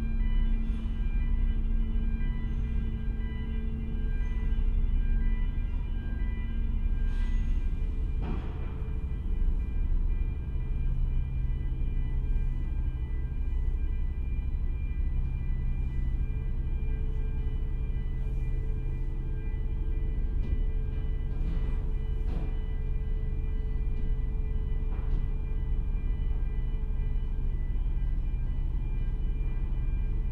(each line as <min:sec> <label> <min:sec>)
0:00.0 Boarding the Kennecraig to Port Ellen ferry 0:30.3